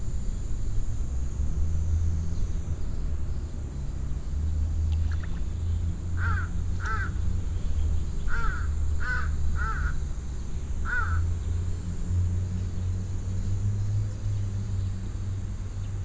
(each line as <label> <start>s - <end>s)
cicades 0.0s - 16.0s
wind 0.0s - 16.0s